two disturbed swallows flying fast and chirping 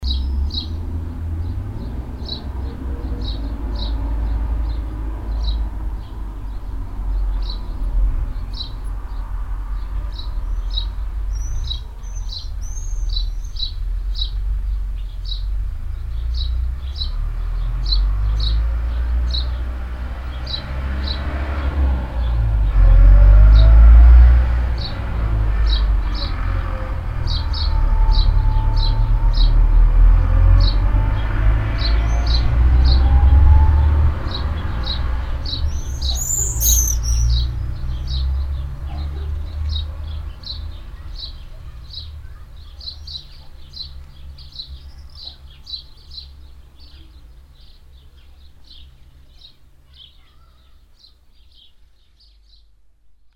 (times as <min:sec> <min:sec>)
0:35.7 0:37.4